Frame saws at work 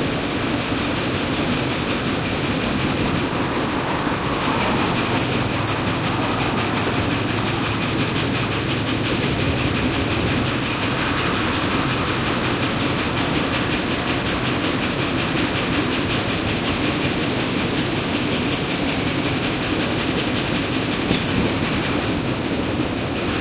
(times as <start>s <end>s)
1.0s 14.6s